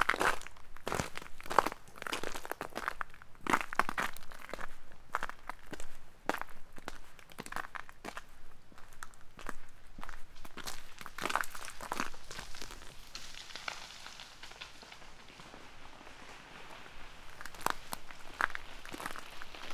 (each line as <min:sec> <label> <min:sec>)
0:10.6 frozen rain 0:19.7
0:11.1 trees are breaking all over 0:19.7